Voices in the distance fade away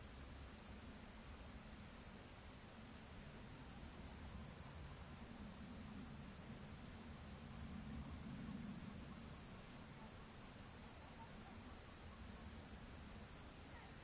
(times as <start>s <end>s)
3.0s 14.0s